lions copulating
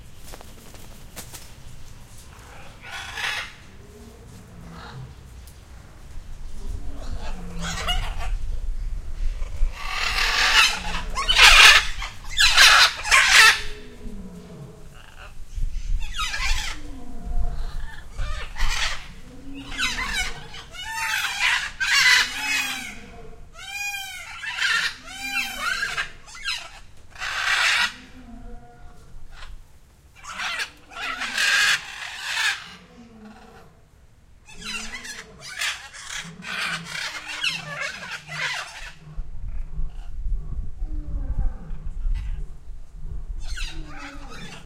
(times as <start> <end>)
9.4 29.6, 34.4 44.6